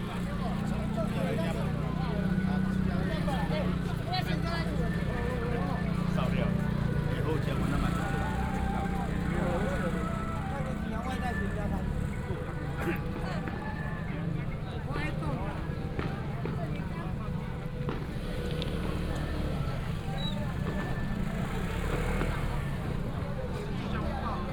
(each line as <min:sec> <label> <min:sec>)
0:00.0 Walking on the road 0:24.5